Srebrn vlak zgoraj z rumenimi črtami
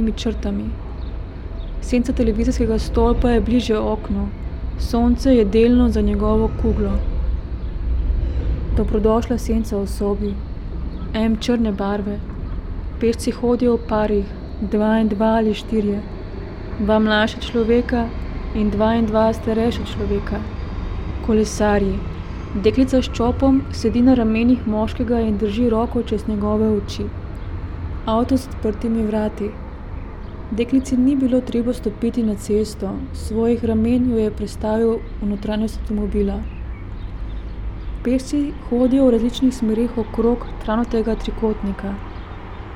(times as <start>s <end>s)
8.3s 27.4s